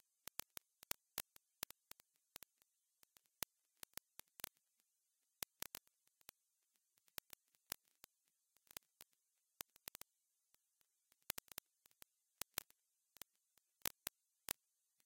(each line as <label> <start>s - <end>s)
vinyl crackle 0.0s - 4.8s
vinyl crackle 5.4s - 15.0s